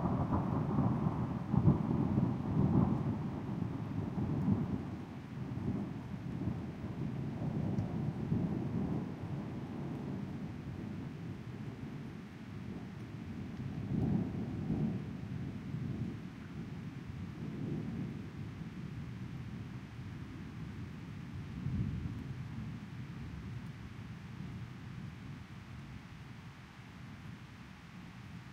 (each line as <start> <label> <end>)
0.0 rolling thunder 18.4
0.0 upcoming rainfall 28.5
0.0 wind 28.5